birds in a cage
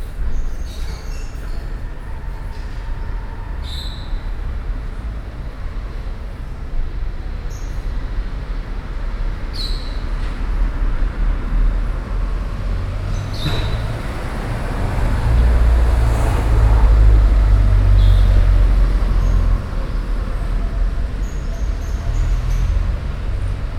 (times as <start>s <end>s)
0.3s 1.7s, 3.6s 4.2s, 9.5s 10.2s, 13.1s 14.0s, 21.2s 23.0s